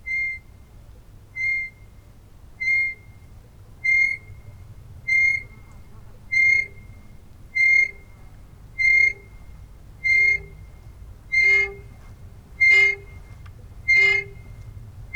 10.0s swinging-singing pontoon footbridge 15.1s

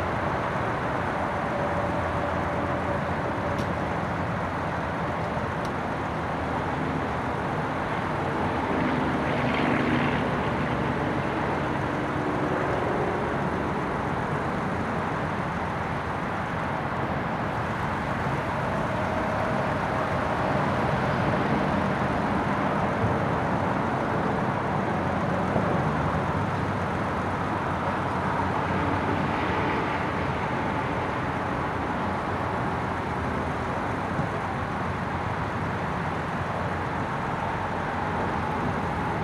0.0s cars and trucks can be heard pulling in and out 39.2s
0.0s roar of traffic is constant 39.2s

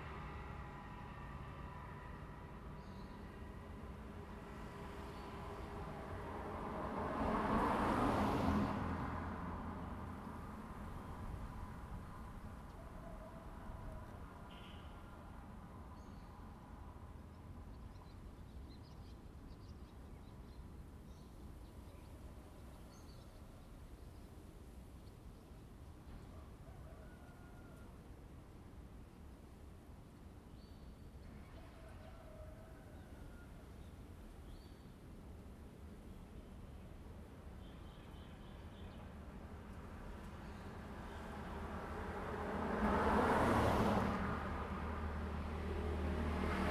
0.0s Traffic sound 17.7s
32.1s Traffic sound 46.7s

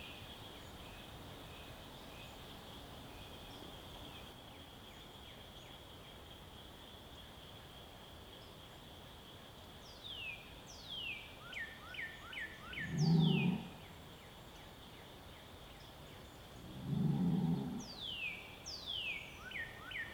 0.0s Birds 20.1s
0.0s light wind in the trees 20.1s
12.9s bulls and cows calling and mooing 13.8s

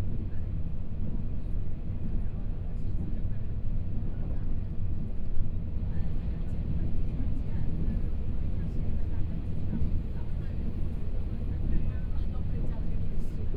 0.0s Interior of the train 13.5s

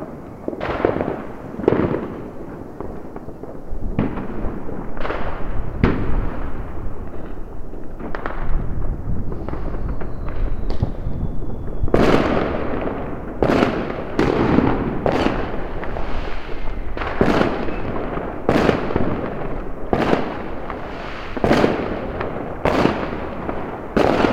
0.0s fireworks 24.3s

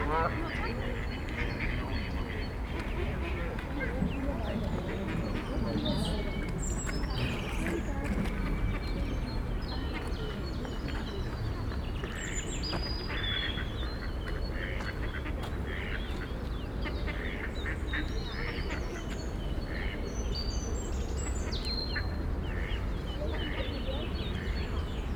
13.0s ducks 20.0s

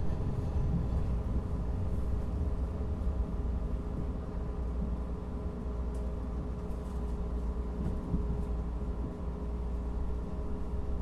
0.0s Blue Line train 11.0s

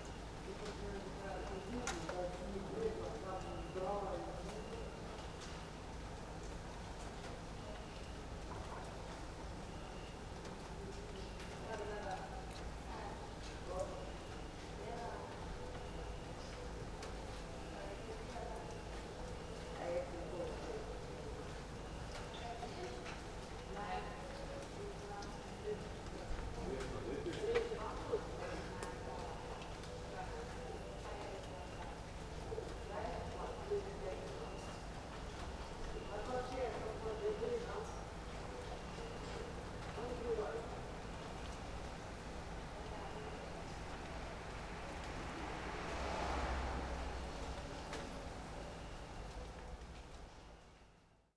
0.0s leftovers of rain 50.9s
7.5s distant voices 50.6s

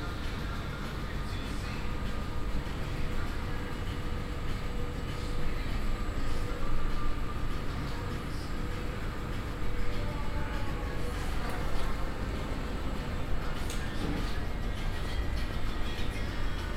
0.0s background radio music 16.7s
0.0s electric buzz of the ice fridges 16.7s
0.0s hum of the ventilation 16.7s
13.5s opening of the automatic door 14.5s

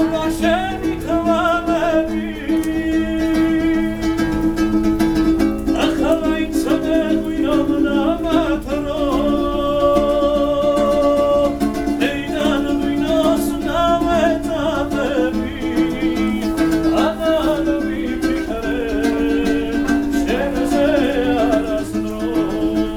0.0s pair of young men singing 4.2s
5.7s pair of young men singing 22.9s

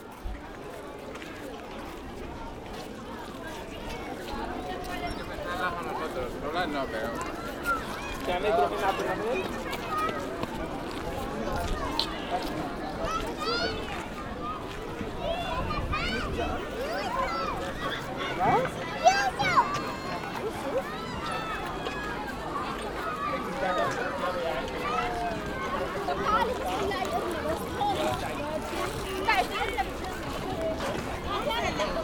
7.2s Children playing with water 32.0s

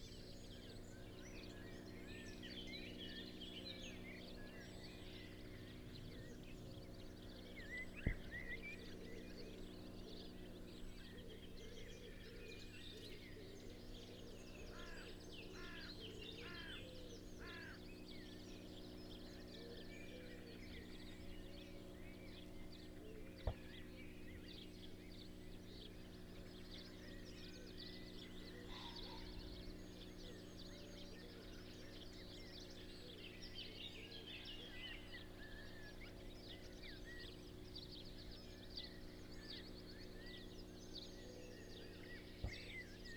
0.0s song thrush 43.1s
7.3s blackbird 43.1s

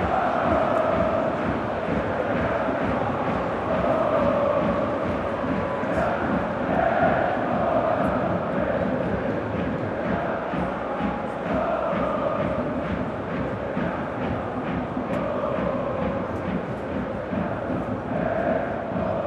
0.0s football match 19.2s
0.0s hertha fan chants 19.2s

